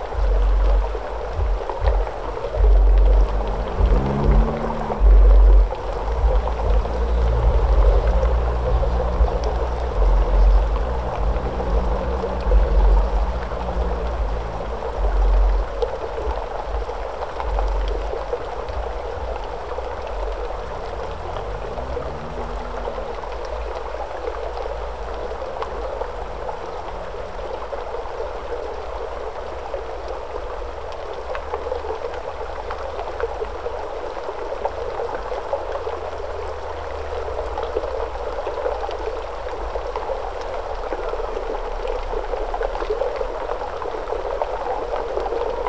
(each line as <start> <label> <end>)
0.0 mountain water rolling small rocks 45.6
0.0 vehicle loaded with heavy bass beat passes over 45.6